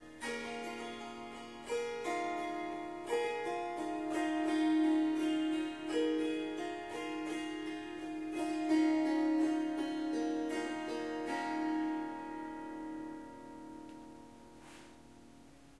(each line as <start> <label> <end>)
0.0 Harp Strumming Riff 15.7